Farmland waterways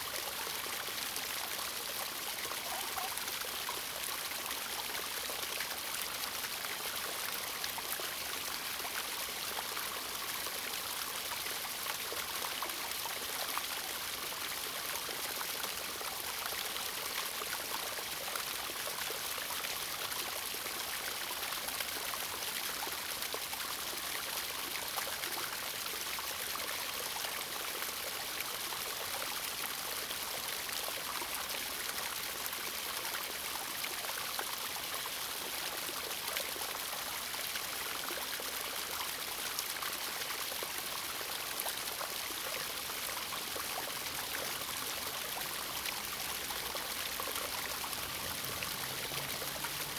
0:00.0 0:12.1, 0:33.7 0:49.9

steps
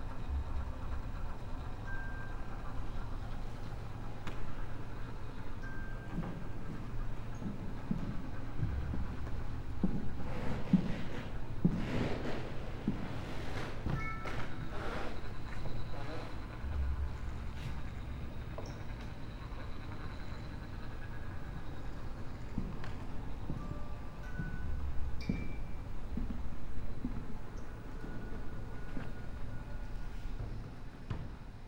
0:06.1 0:18.0

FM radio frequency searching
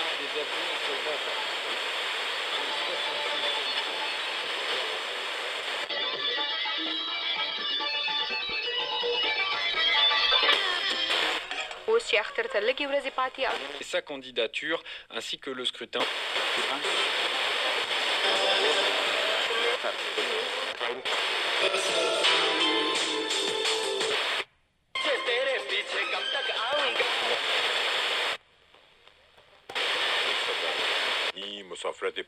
0:00.0 0:05.9, 0:16.0 0:24.4, 0:26.1 0:31.4

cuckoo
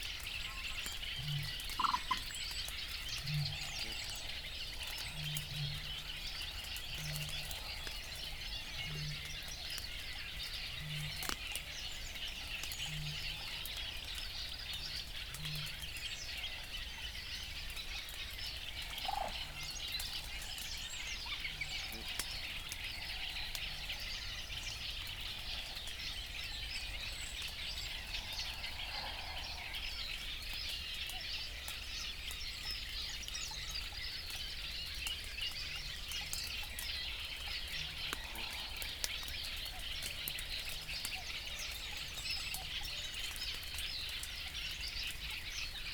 0:01.6 0:02.3

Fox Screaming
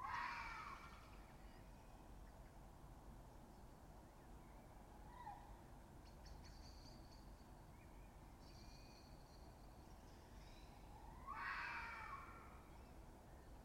0:00.0 0:00.8, 0:11.2 0:12.5

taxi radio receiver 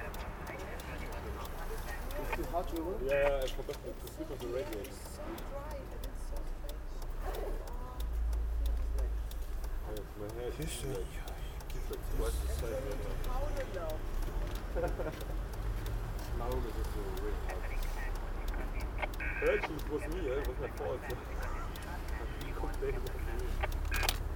0:17.3 0:24.3

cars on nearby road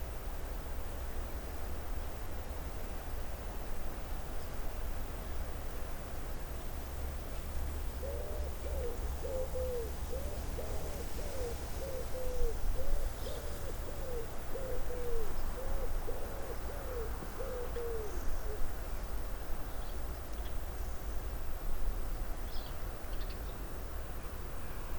0:23.6 0:24.9

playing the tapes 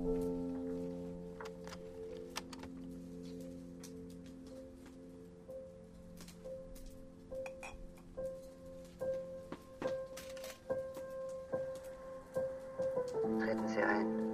0:00.1 0:05.0

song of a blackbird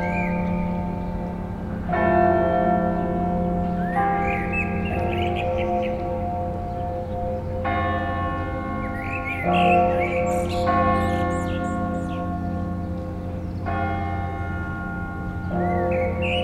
0:00.0 0:01.4, 0:03.6 0:07.7, 0:08.8 0:14.0, 0:15.3 0:16.4

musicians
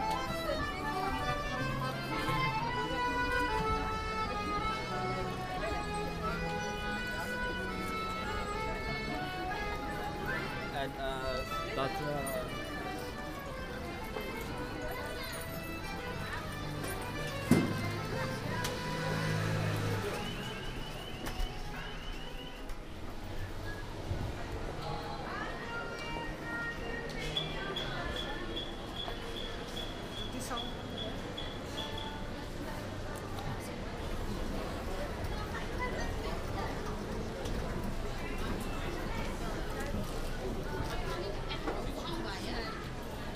0:00.0 0:22.8

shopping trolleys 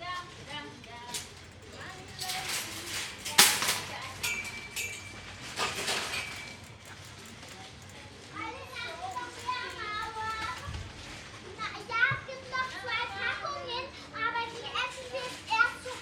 0:00.0 0:11.5

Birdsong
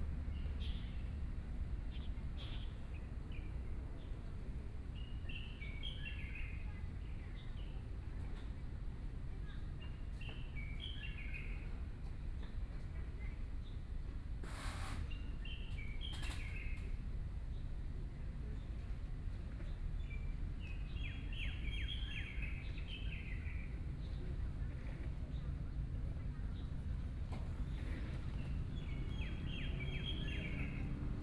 0:27.5 0:31.2

